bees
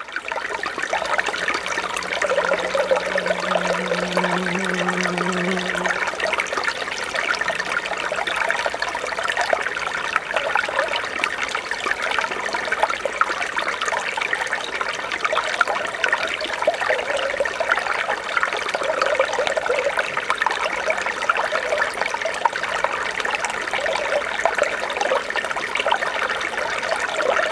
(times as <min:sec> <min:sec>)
0:01.0 0:08.3